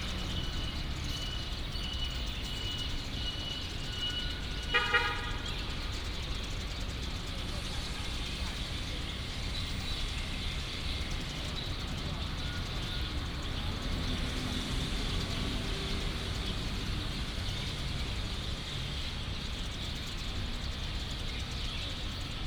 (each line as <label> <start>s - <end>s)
Many sparrows 0.0s - 22.4s
Traffic sound 0.0s - 22.4s